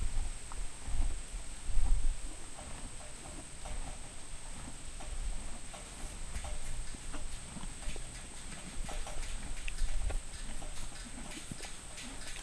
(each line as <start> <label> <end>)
0.0 HORSE EATING GRASS 12.4
0.0 wind noise 12.4